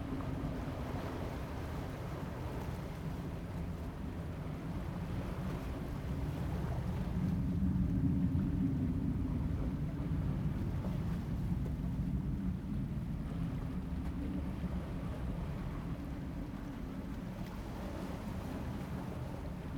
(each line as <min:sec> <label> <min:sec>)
0:00.0 waves 0:19.7